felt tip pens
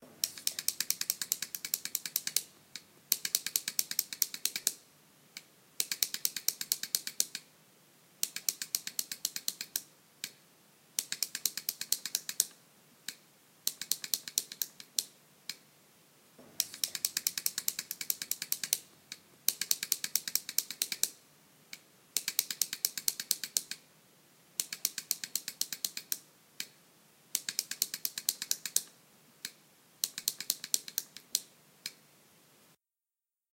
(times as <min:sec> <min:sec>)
0:00.1 0:04.8, 0:16.6 0:23.8, 0:27.4 0:31.5